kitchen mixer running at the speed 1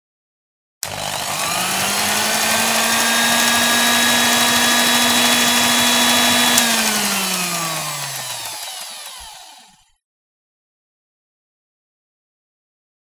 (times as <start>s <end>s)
0.8s 10.0s